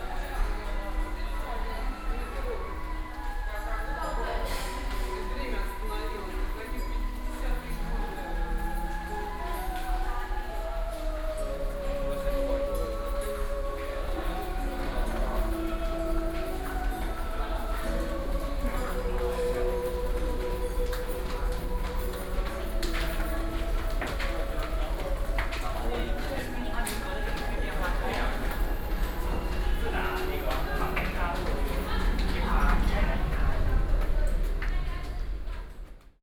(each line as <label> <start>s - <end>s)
Walking in the underpass 0.0s - 36.2s
Traffic Sound 27.4s - 36.2s